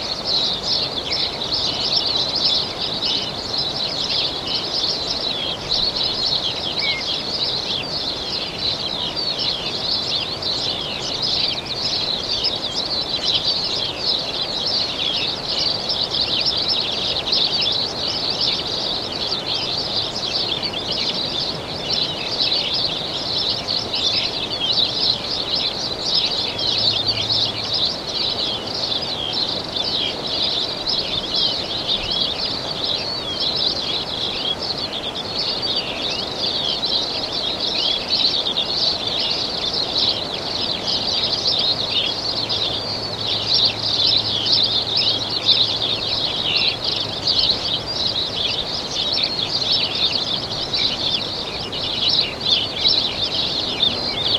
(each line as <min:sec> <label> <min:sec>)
0:00.0 birdsong 0:54.3
0:00.0 sparrows 0:54.3